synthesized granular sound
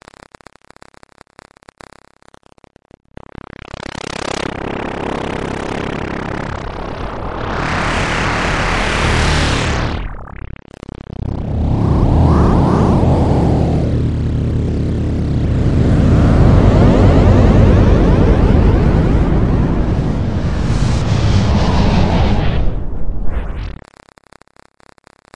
8.8s 23.8s

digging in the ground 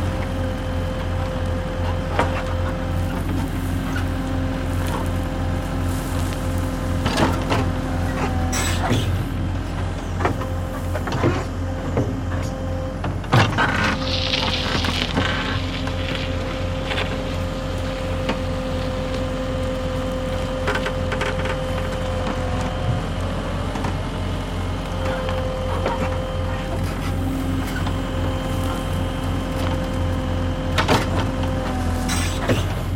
24.7s 32.9s

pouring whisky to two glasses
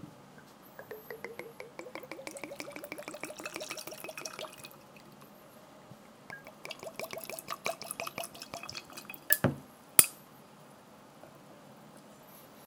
0.8s 5.2s, 6.3s 9.4s

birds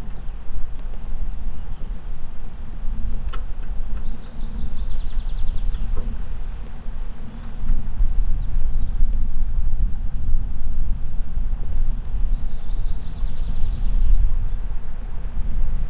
0.0s 2.4s, 3.0s 9.1s, 12.0s 14.8s

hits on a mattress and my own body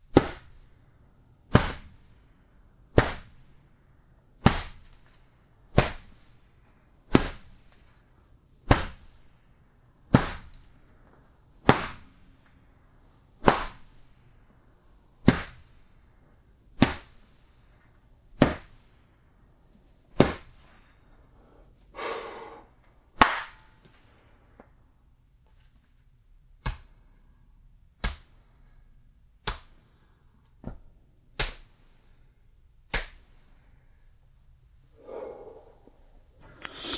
0.0s 0.6s, 1.5s 2.0s, 2.9s 3.4s, 4.4s 5.0s, 5.7s 6.2s, 7.1s 7.6s, 8.6s 9.2s, 10.1s 10.7s, 11.6s 12.2s, 13.4s 13.9s, 15.2s 15.8s, 16.8s 17.2s, 18.4s 18.8s, 20.1s 20.6s, 28.0s 28.4s

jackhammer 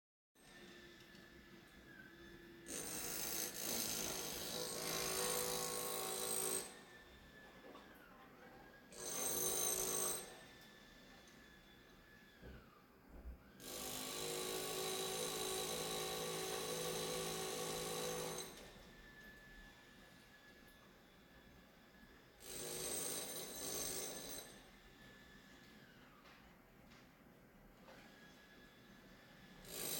2.6s 6.9s, 8.9s 10.6s, 13.6s 18.8s, 22.4s 24.8s, 29.5s 29.9s

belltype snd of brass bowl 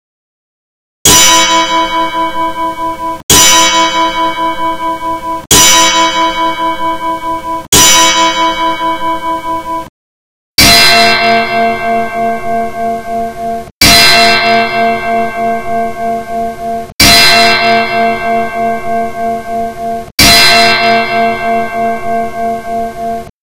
1.1s 9.9s

